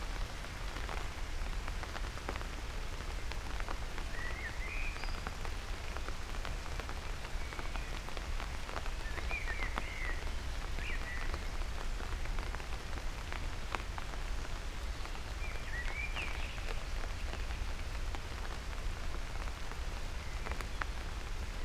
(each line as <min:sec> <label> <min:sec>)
0:00.0 raindrops 0:21.6